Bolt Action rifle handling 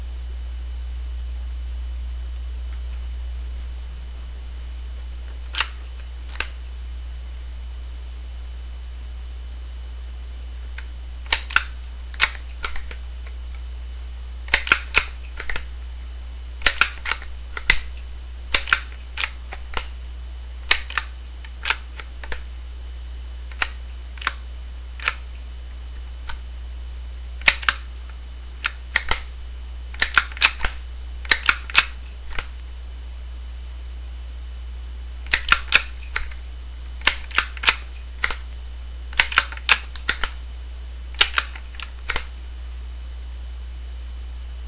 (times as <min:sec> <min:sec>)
0:05.4 0:06.6, 0:10.8 0:13.6, 0:14.5 0:15.7, 0:16.6 0:19.9, 0:20.6 0:22.5, 0:23.5 0:24.4, 0:25.0 0:25.4, 0:27.4 0:27.9, 0:28.6 0:29.3, 0:29.9 0:32.6, 0:35.2 0:36.4, 0:37.0 0:38.5, 0:39.1 0:40.4, 0:41.2 0:42.3